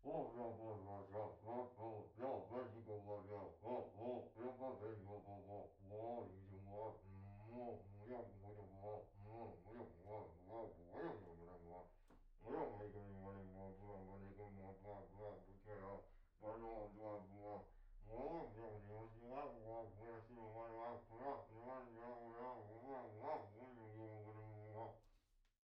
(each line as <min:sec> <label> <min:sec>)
0:00.0 talking 0:25.0